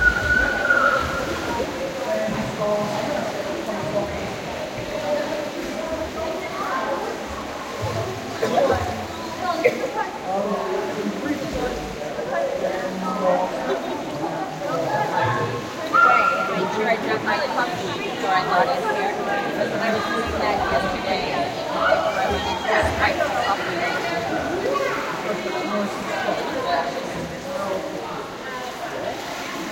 very busy pool with multiple lessons 0:00.0 - 0:29.7
children 0:13.2 - 0:16.8
children 0:17.8 - 0:26.6

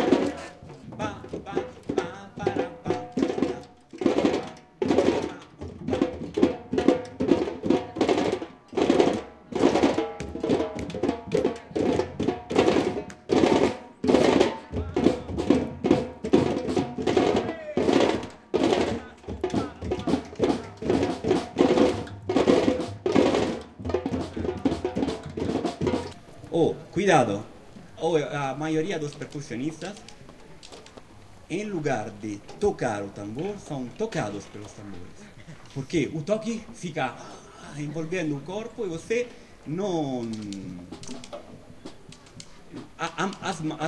teacher comments 0:00.0 - 0:03.7
samba drums 0:00.0 - 0:27.4
voices trying to keep rhythm 0:00.0 - 0:43.8
teacher comments 0:26.2 - 0:41.1
samba drums 0:31.5 - 0:43.8

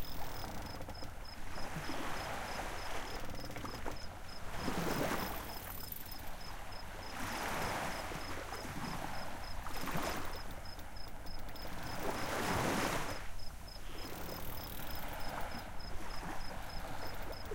boats 0:00.0 - 0:17.5
crickets 0:00.0 - 0:17.5
sea 0:00.0 - 0:17.5

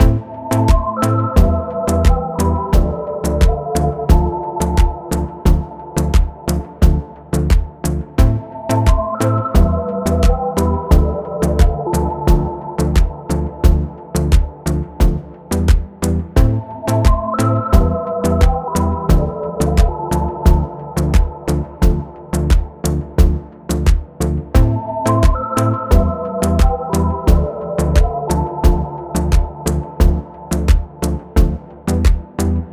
marimba 0:00.0 - 0:13.8
pulsating synths 0:00.0 - 0:32.7
electronic percussion 0:00.0 - 0:32.7

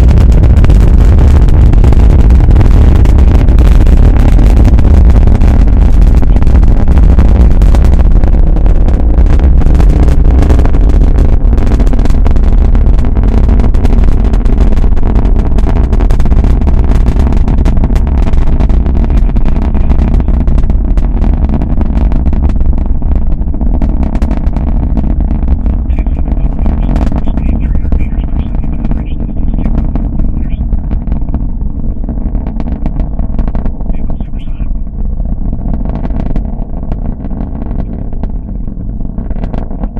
powerful new Space X Falcon 9 rocket 0:00.0 - 0:39.9

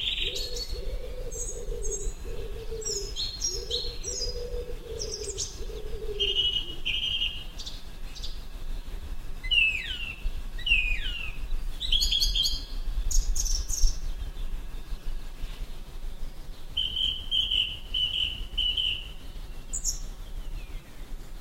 wood pigeon 0:00.0 - 0:08.3
blackbird sings 0:00.0 - 0:08.4
blackbird sings 0:09.4 - 0:14.5
blackbird sings 0:16.7 - 0:20.9

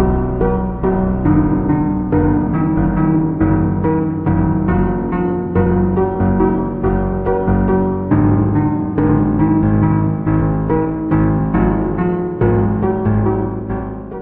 Detuned piano 0:00.0 - 0:14.2

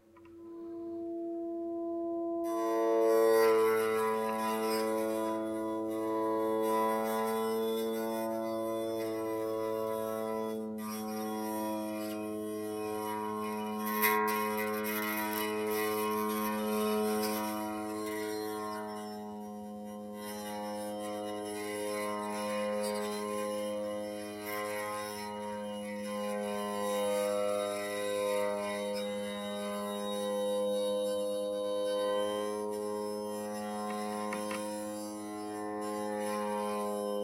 drone sound with the Ebow 0:00.0 - 0:37.2

